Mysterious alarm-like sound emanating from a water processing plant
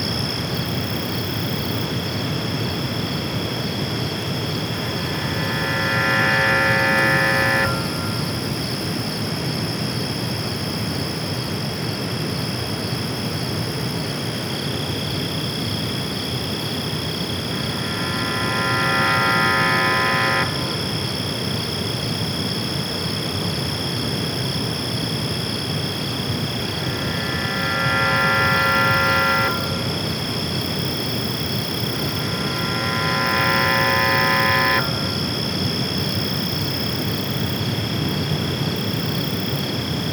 4.7 8.6, 17.3 21.2, 26.3 35.7

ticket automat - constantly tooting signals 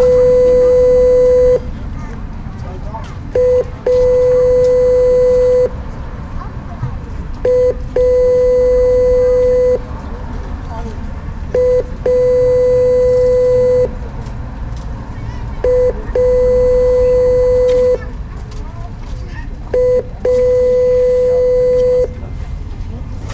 0.0 1.7, 3.4 5.8, 7.4 9.9, 11.5 14.1, 15.6 18.0, 19.7 22.4

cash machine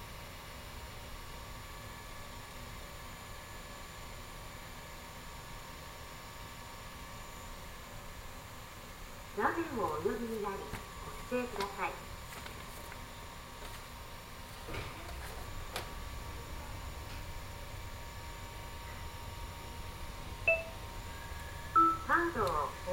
21.8 22.9

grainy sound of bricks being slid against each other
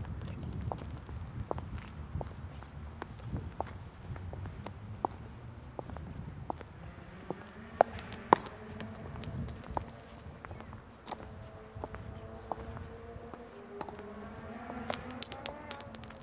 5.8 16.2

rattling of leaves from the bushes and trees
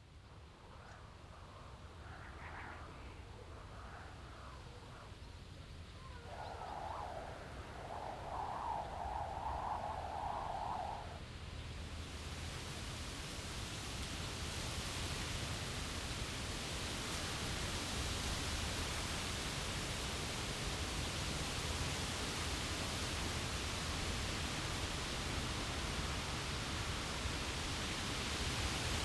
11.8 29.0

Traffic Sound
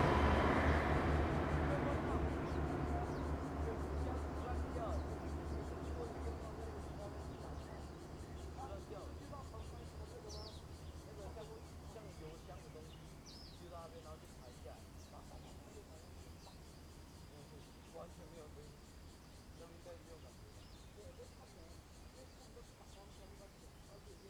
0.0 12.2

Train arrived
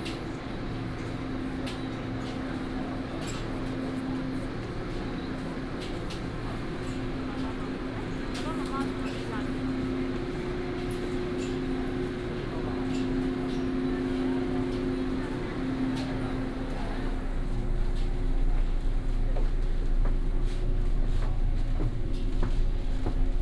6.0 23.4

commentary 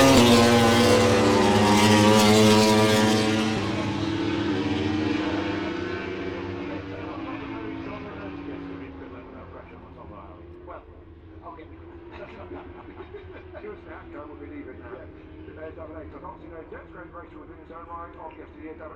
5.4 18.9

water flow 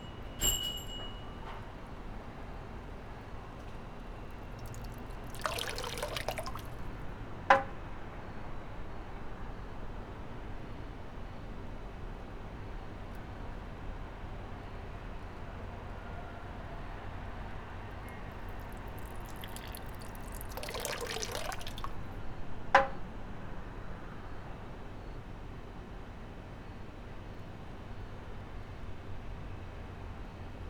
3.5 7.0, 18.3 22.2

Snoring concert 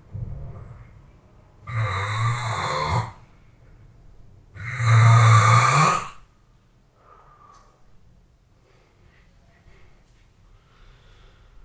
1.6 3.3, 4.6 6.3

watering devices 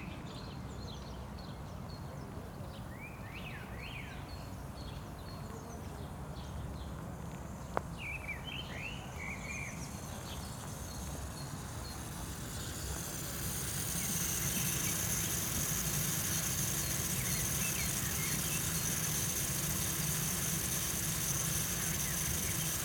9.8 22.8

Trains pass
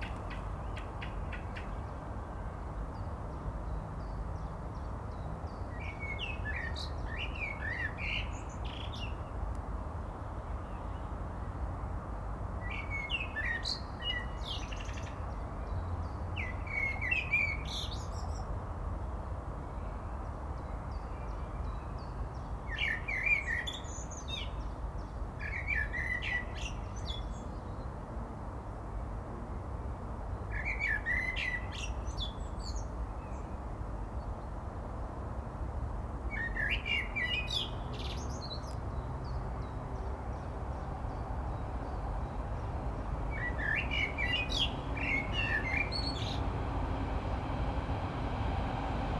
39.1 49.1

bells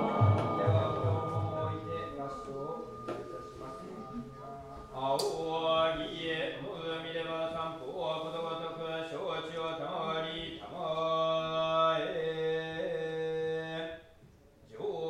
0.0 6.6

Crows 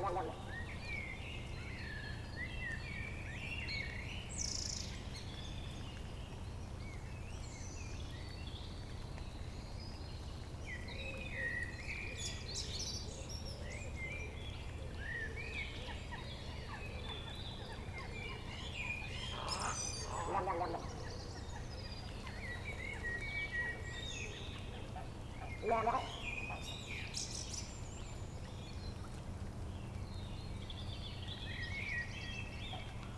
19.2 21.0

